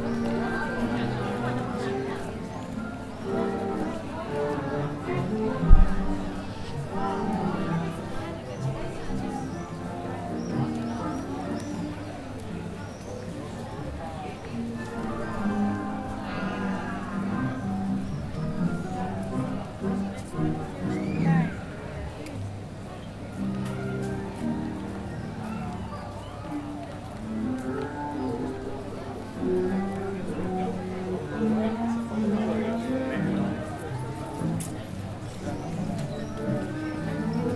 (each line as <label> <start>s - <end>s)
dancers danced tango 0.0s - 37.5s